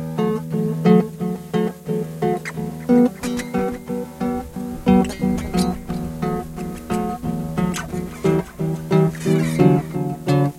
0.0s Acoustic Guitar 10.5s

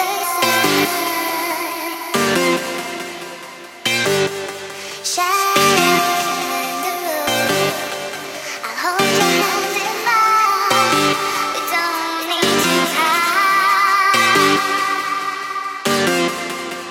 3.9s Bass 4.7s
5.6s Bass 6.1s
7.3s Bass 7.9s
9.0s Bass 9.5s
10.7s Bass 11.4s
12.4s Bass 12.9s
14.2s Bass 14.6s
15.9s Bass 16.7s

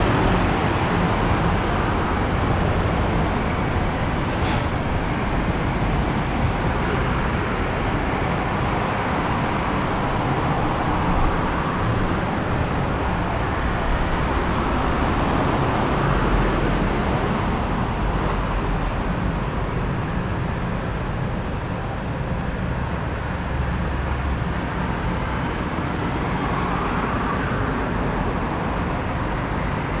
0.0s busy road 30.0s

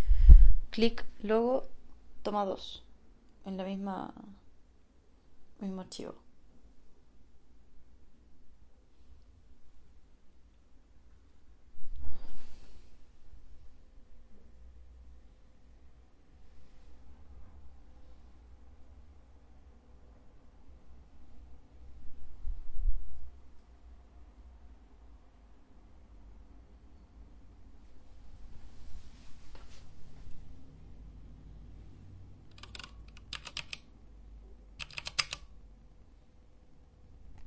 32.5s Mechanical keyboard clicking 33.9s
34.8s Mechanical keyboard clicking 35.5s

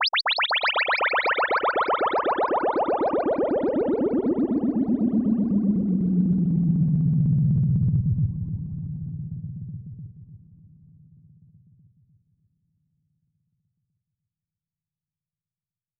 0.0s Echo-ey Modular Synth Bubbles 9.1s

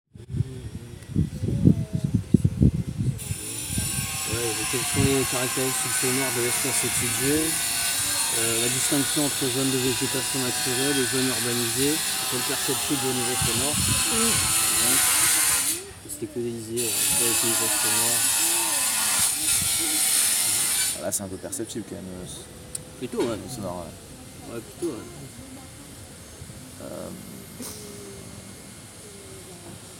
3.2s circular saw 21.2s

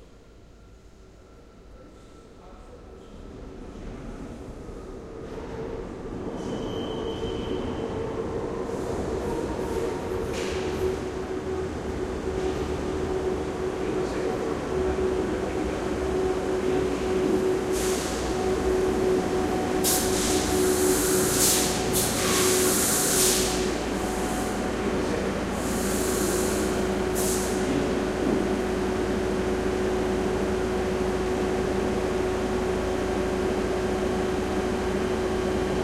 0.0s Underground train arrival and departure 35.8s

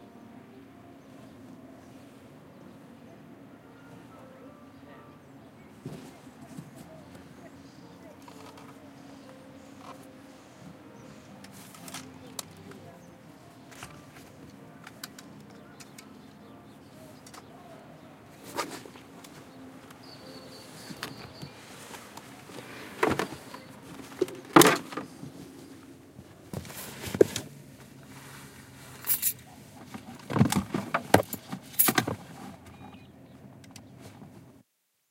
0.0s someone inside the house playing the piano 26.0s
5.8s Packing Up Gear in Car 16.2s
5.8s Walking along a gravel path 30.4s
18.3s Packing Up Gear in Car 33.1s

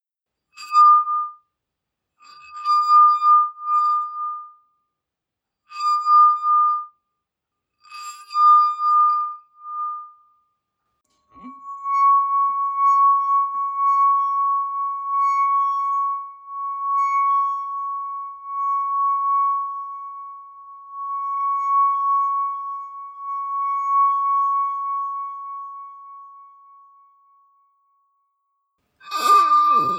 11.1s Singing glasses 27.4s
29.0s Singing glasses 29.9s

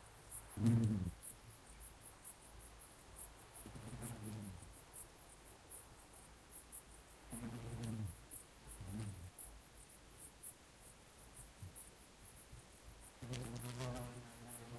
0.0s calm wind 14.7s
0.0s crickets in background 14.7s
0.5s bumblebees buzzing around a flower 1.3s
3.6s bumblebees buzzing around a flower 5.0s
7.2s bumblebees buzzing around a flower 9.5s
13.0s bumblebees buzzing around a flower 14.7s

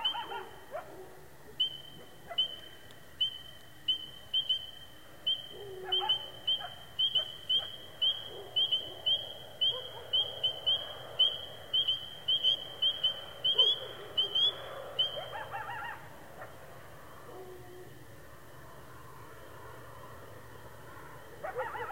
0.0s spring peepers are chorusing 0.7s
0.0s coyotes start calling out 21.9s
1.5s spring peepers are chorusing 17.9s

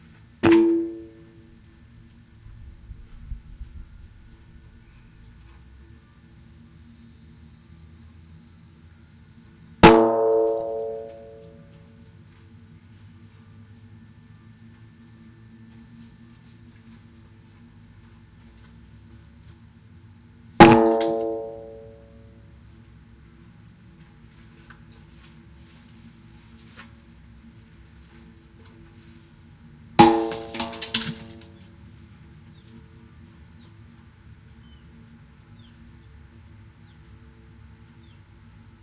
1.0s abnormal wind noise 7.1s
9.8s tire percussion 12.0s
20.6s tire percussion 22.3s
30.0s tire percussion 31.7s

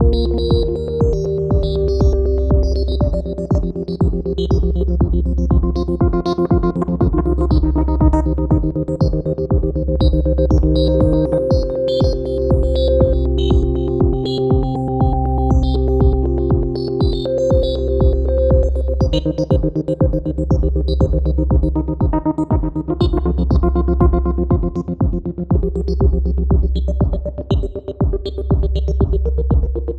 0.0s drum loop 29.9s

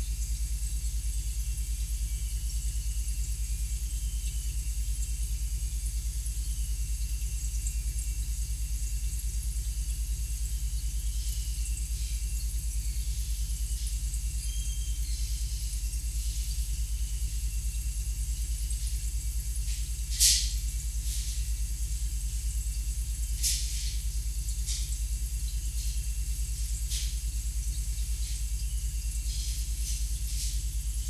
0.0s coolant part of the fridge 31.0s

